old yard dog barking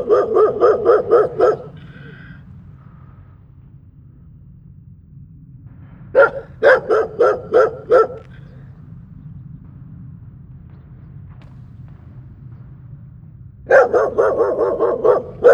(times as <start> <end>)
0.0 2.3, 6.2 8.5, 13.7 15.5